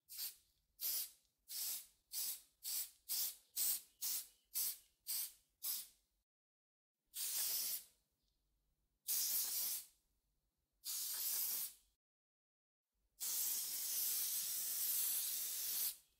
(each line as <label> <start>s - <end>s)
Spraying A Sheet Pan 10.9s - 11.8s